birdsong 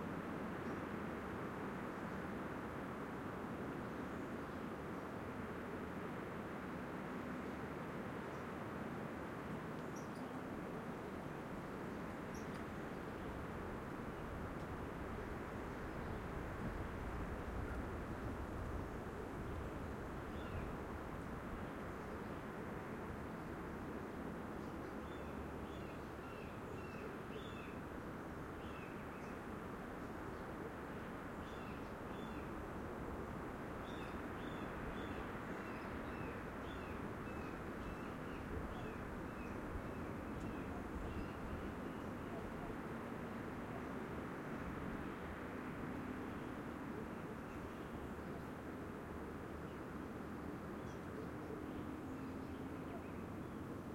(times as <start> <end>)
9.8 10.5, 11.9 13.4, 19.8 20.8, 24.5 27.8, 28.6 29.5, 33.8 42.7, 50.8 53.7